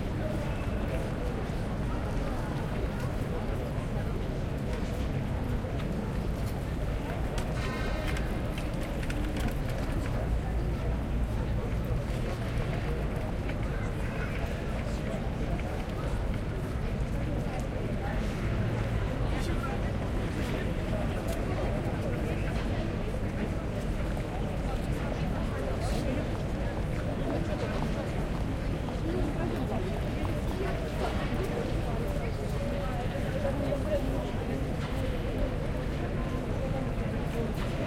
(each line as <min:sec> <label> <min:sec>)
0:00.1 people walking along 0:37.8